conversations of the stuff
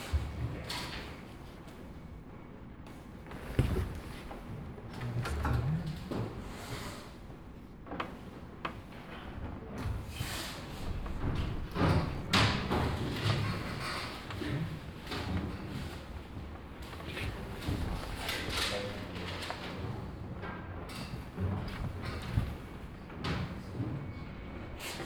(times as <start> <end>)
13.4 25.0